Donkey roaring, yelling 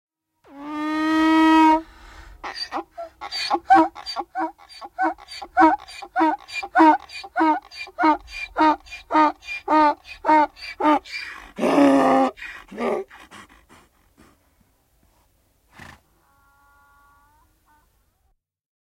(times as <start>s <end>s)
2.4s 13.1s